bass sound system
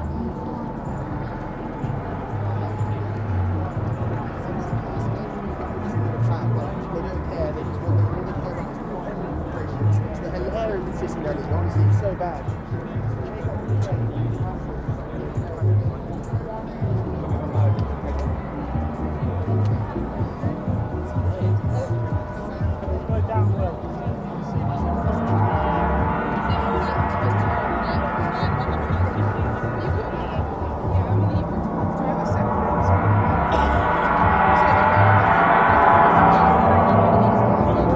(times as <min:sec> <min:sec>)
0:16.8 0:37.9